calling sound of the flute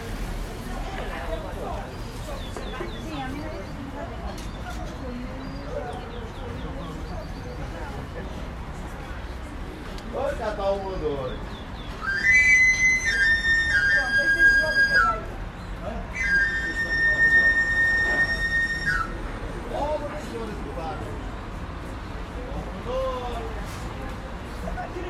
0:11.9 0:15.4, 0:16.1 0:19.3

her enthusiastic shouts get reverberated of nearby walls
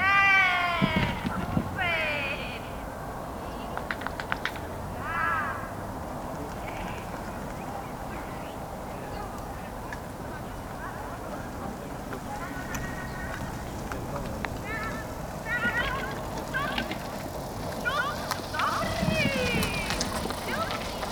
0:00.0 0:02.8, 0:05.0 0:05.8, 0:14.7 0:16.9, 0:17.8 0:20.8

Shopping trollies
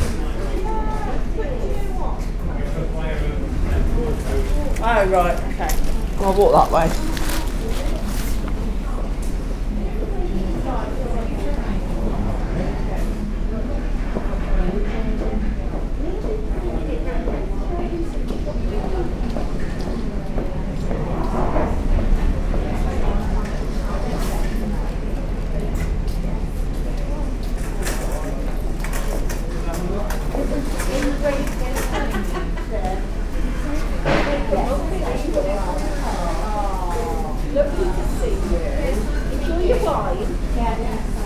0:05.2 0:08.8

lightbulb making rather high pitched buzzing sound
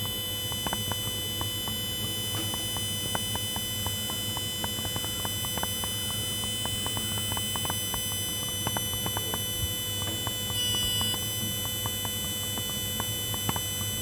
0:10.4 0:13.6

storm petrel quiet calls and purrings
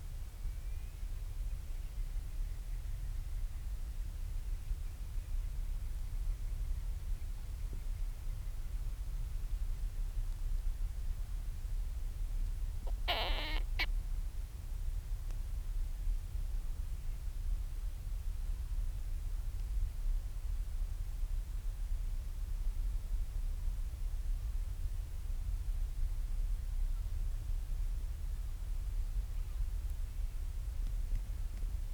0:12.8 0:13.9

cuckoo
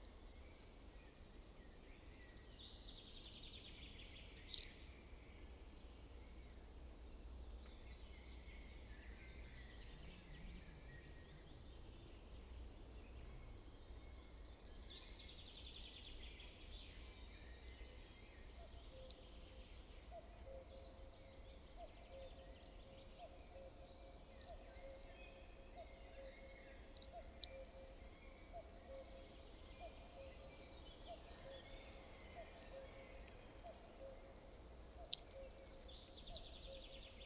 0:20.0 0:37.2

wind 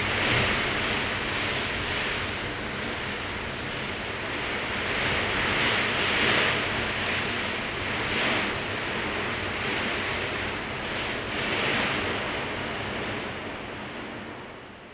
0:00.0 0:08.9

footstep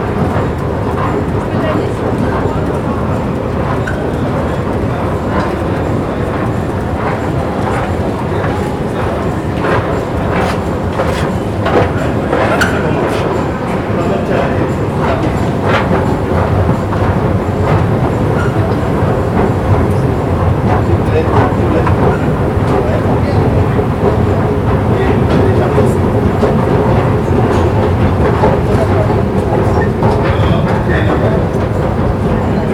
0:03.5 0:14.0

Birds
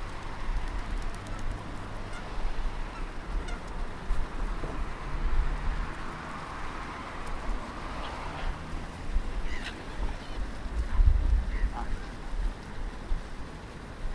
0:09.4 0:12.6

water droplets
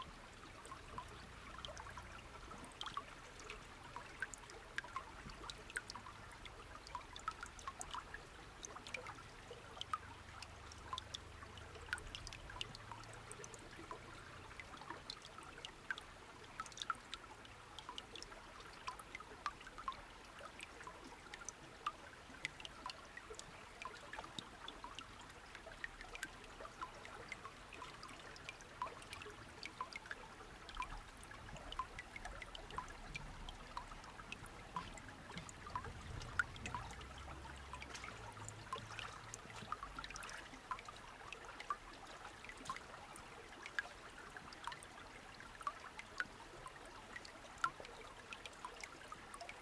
0:28.5 0:41.8

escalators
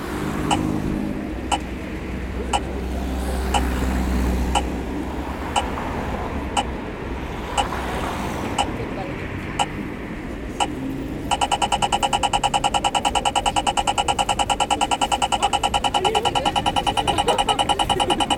0:10.6 0:18.3

